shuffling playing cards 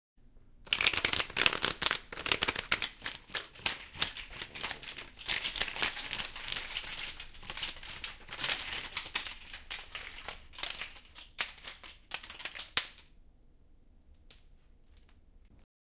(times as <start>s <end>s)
0.7s 12.6s